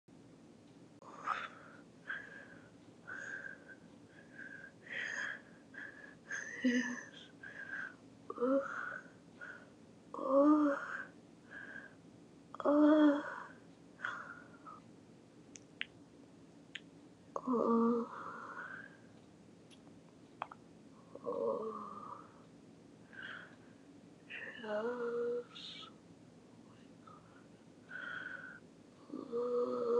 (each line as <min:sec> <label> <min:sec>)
0:21.1 groaning 0:22.3
0:21.1 moaning 0:22.3